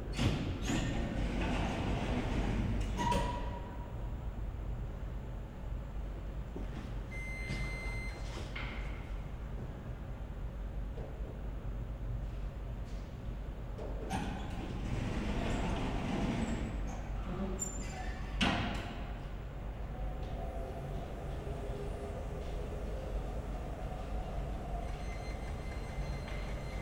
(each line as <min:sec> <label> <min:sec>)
0:00.0 hum of air conditioner 0:26.8
0:00.2 elevator 0:03.9
0:07.1 elevator 0:08.9
0:14.0 elevator 0:26.8